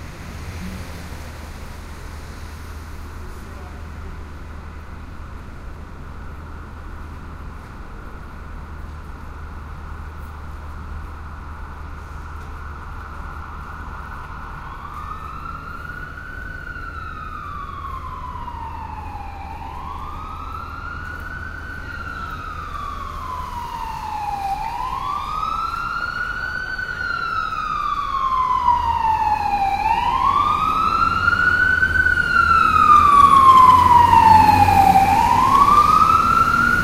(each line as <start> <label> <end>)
0.0 Fire truck going by 36.8
0.0 traffic 36.8